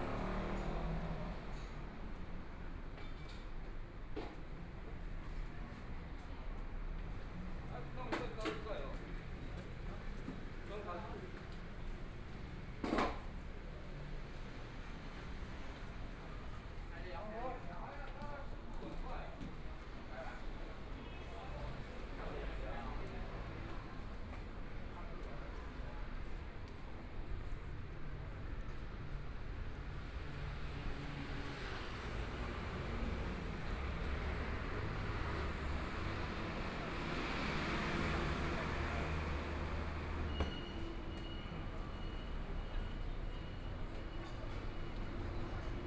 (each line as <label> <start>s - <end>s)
Traffic Sound 0.0s - 3.0s
Pedestrian 0.0s - 17.0s
Pedestrian 18.5s - 45.8s
Traffic Sound 19.2s - 45.8s